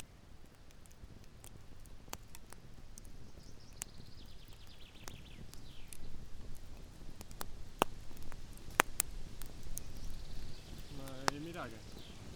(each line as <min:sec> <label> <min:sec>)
0:00.0 Campfire 0:12.3